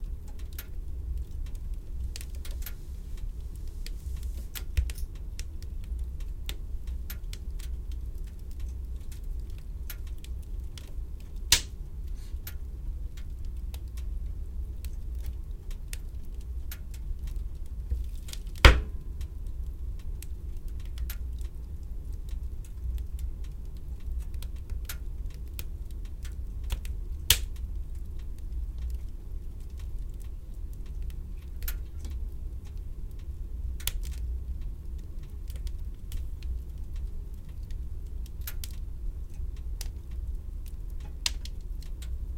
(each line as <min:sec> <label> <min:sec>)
0:00.0 hearth fire 0:42.3